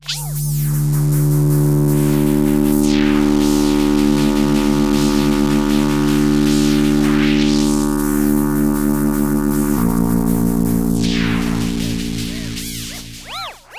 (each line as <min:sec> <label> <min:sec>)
0:00.4 strange and cool drone 0:13.7